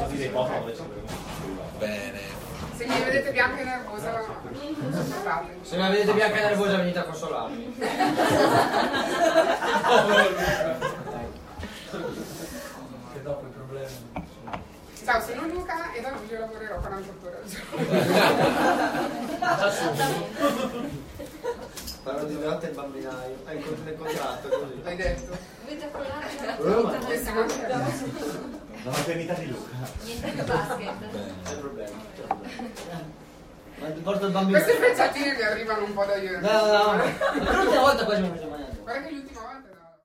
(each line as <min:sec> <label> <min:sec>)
0:07.0 Crowd 0:13.0
0:17.6 Crowd 0:21.8
0:36.6 Crowd 0:38.8